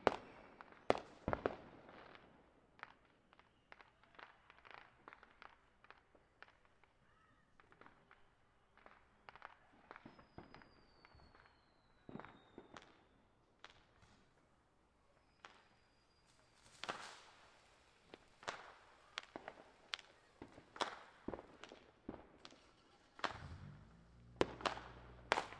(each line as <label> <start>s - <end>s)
illegal bottle rockets 22.4s - 25.5s